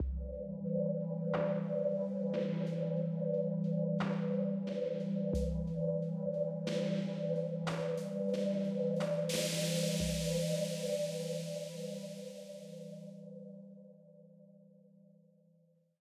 0.1s drone 12.9s

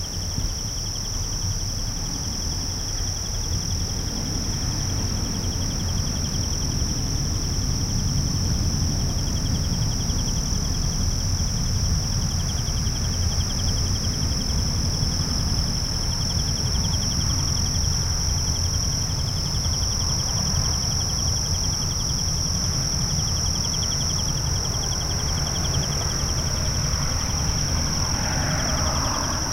0.0s crickets 29.5s

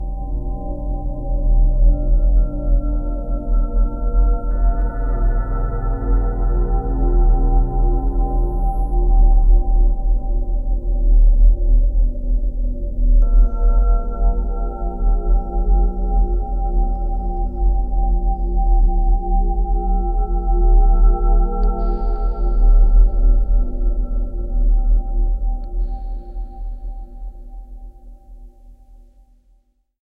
13.2s Drone bell sound 16.5s

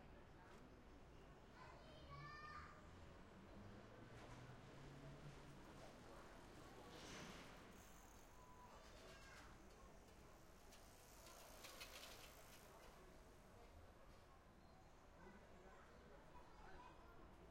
6.9s bicycle 13.0s
7.1s people 17.5s

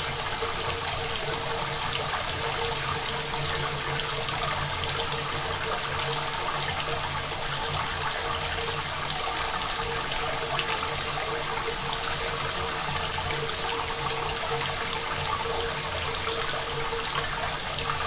0.0s rain 18.0s

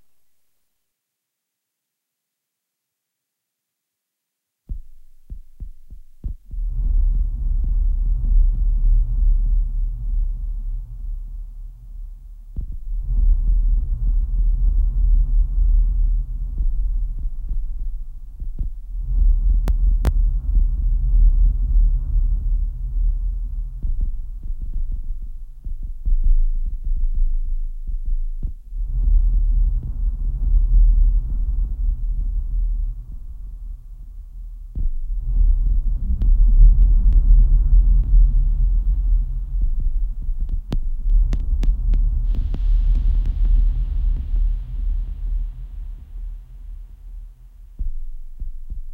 0.0s bass 0.7s
4.6s bass 48.9s

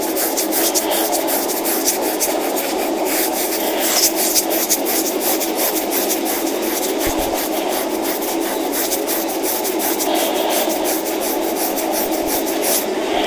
5.9s scratching body sound 10.1s

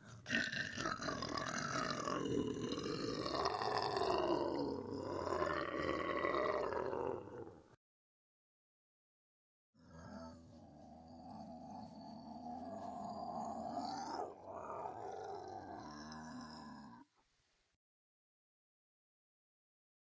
0.0s growl 7.8s
9.8s growl 17.2s

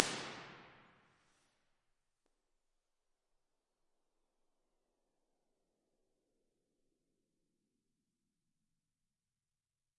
0.0s reverb 1.0s

